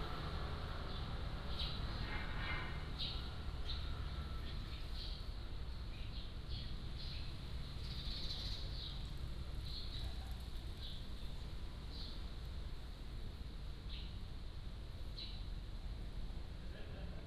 0.0s Wind 17.2s

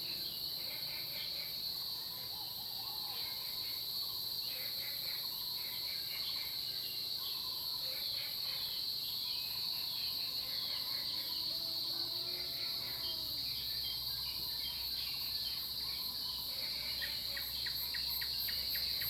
0.0s Cicadas cry 19.0s

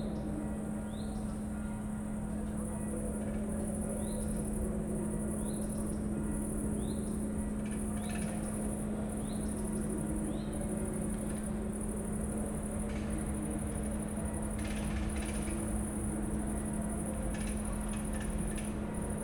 0.0s crickets 19.2s
0.0s hypnotic drones from the mill 19.2s

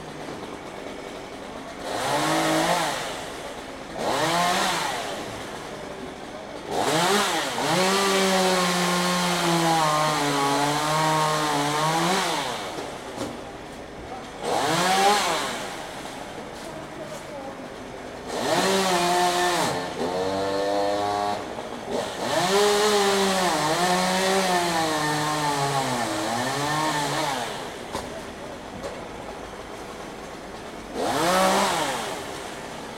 0.0s truck crane 7.7s
0.0s chainsaw 32.9s
5.0s People talking in the background 6.9s
12.9s People talking in the background 18.4s
24.9s truck crane 32.9s
27.6s People talking in the background 30.7s

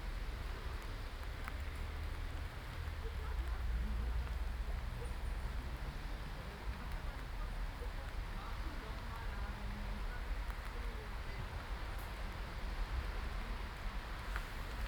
0.0s rain 14.8s

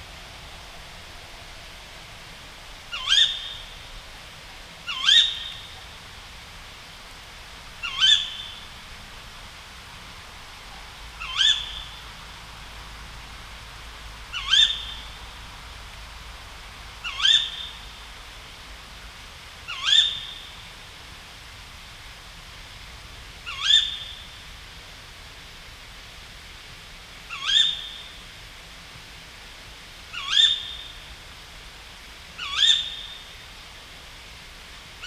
2.9s Tawny owl 3.7s
4.9s Tawny owl 5.7s
7.8s Tawny owl 8.6s
11.2s Tawny owl 12.0s
27.3s Tawny owl 28.0s
30.1s Tawny owl 30.9s
32.4s Tawny owl 33.2s

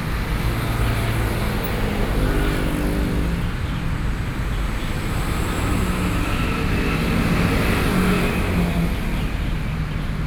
0.0s Traffic sounds coming and going 10.2s

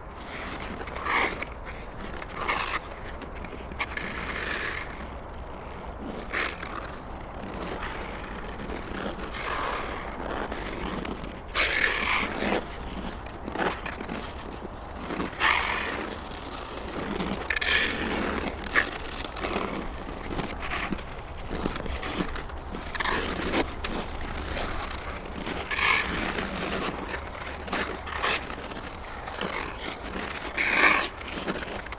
0.0s Ice skating 31.9s

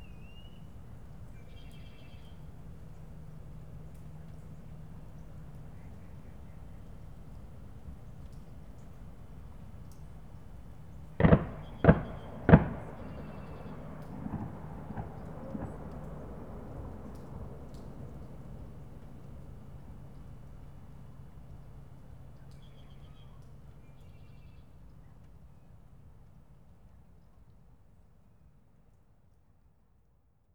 11.2s hunters 19.5s

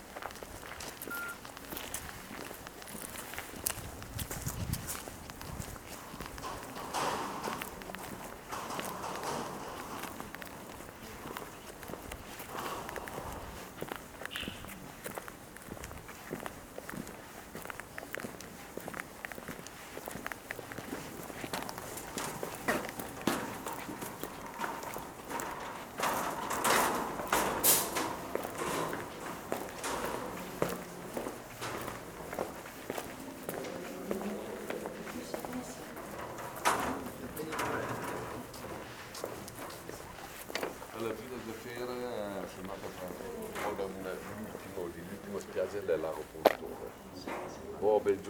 0.0s walking on the gravel 48.2s
21.5s people talking 40.3s
40.9s people talking 48.2s

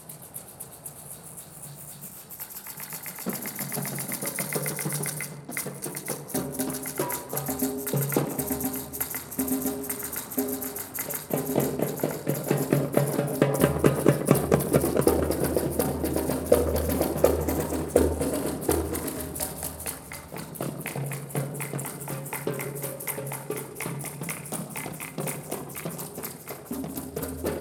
0.0s Boucarabou 27.6s
0.0s Darbuka 27.6s

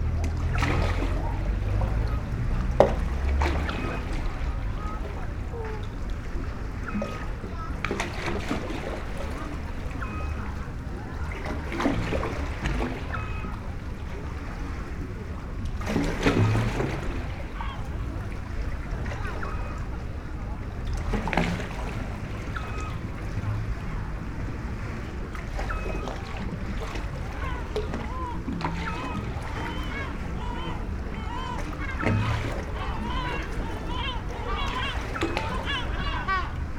0.0s sea 36.7s
0.6s seagulls 13.7s
16.4s seagulls 18.4s
19.1s seagulls 20.2s
22.3s seagulls 24.0s
25.5s seagulls 36.7s

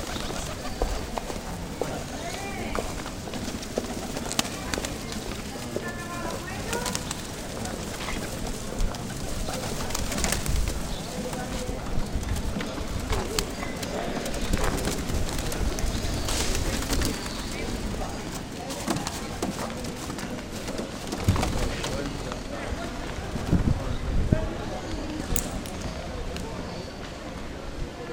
0.0s flock of pigeons 28.1s

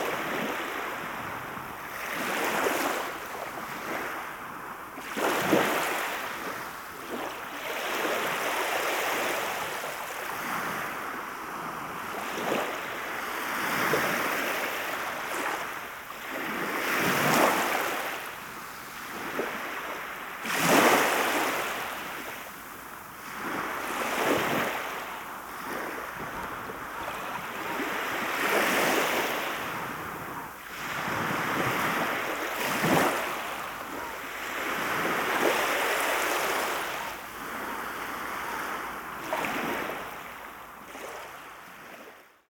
0.0s Play of the waves 42.4s

